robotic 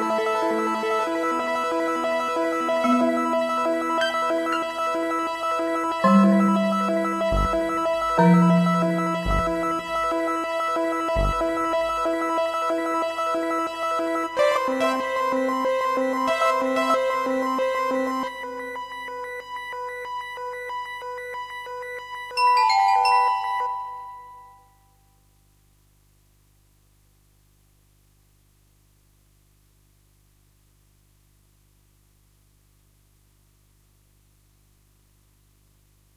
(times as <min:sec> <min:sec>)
0:06.0 0:12.4